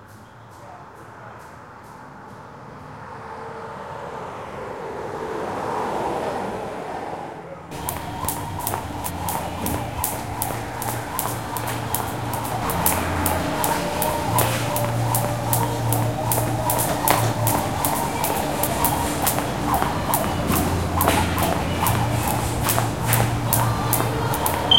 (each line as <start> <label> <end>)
0.0 traffic passing open garage-bay doors 24.7
7.7 Speedbag 24.7
7.7 sparring 24.7
7.8 round timer bells 24.7